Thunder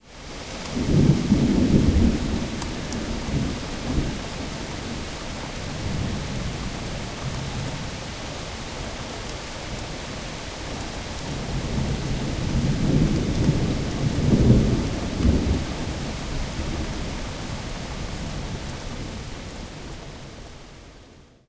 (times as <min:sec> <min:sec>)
0:00.7 0:05.0, 0:11.3 0:17.3